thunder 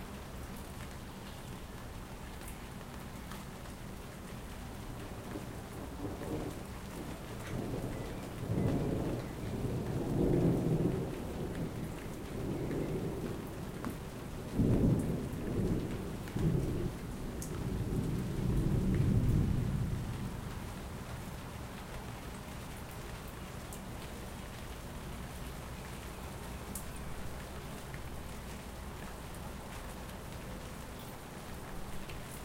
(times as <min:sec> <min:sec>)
0:05.3 0:13.4, 0:14.5 0:20.4